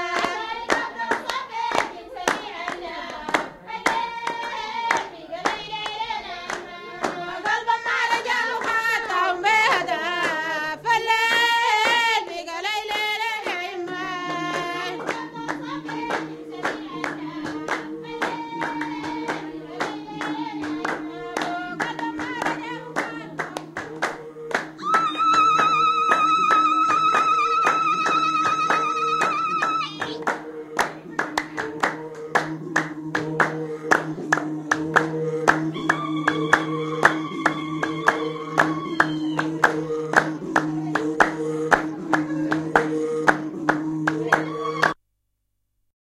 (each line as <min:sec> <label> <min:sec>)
0:00.1 clapping 0:10.6
0:11.3 clapping 0:12.2
0:12.8 clapping 0:45.0
0:13.9 SONGS 0:45.0